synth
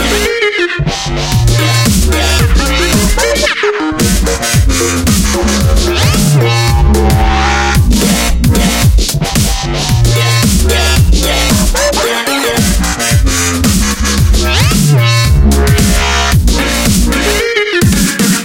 0:01.0 0:09.0

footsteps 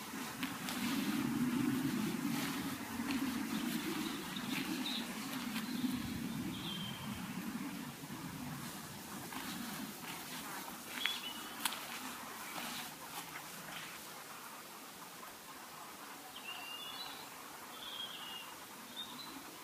0:00.0 0:06.4, 0:08.4 0:14.1

